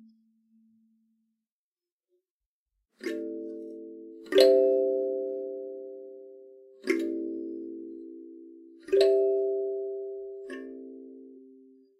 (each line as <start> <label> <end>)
3.0 kalimba 11.9